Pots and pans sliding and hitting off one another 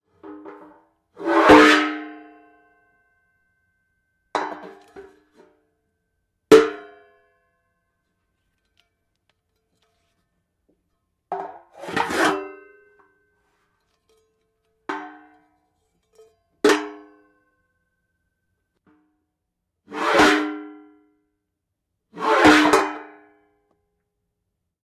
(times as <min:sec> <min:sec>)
0:04.4 0:05.5, 0:11.4 0:12.7